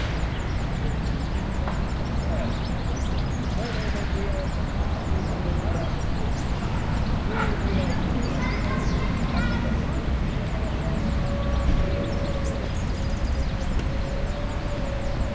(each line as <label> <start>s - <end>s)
Birds 0.0s - 15.3s
Bus 0.0s - 15.3s
children 0.0s - 15.3s
traffic 0.0s - 15.3s
people talking Spanish 2.2s - 10.8s